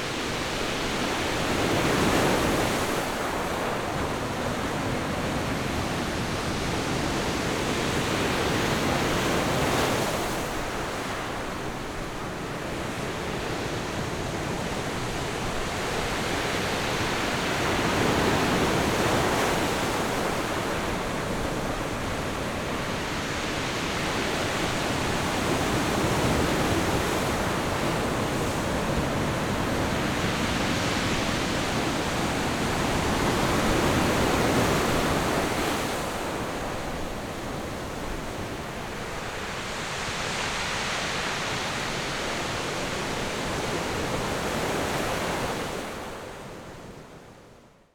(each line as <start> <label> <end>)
0.0 waves 47.8